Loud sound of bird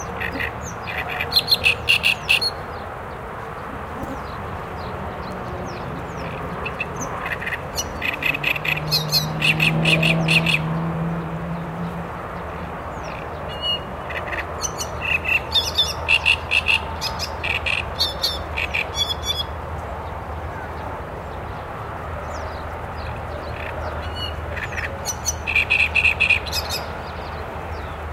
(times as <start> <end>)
0.0 2.6, 5.7 10.8, 13.0 19.6